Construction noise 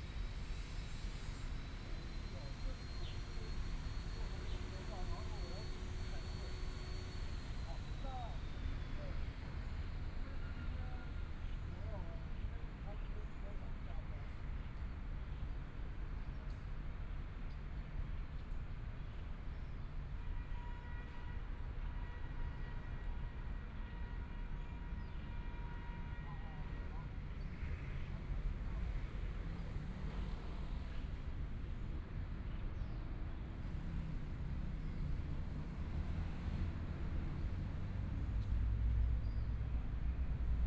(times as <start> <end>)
0.0 11.2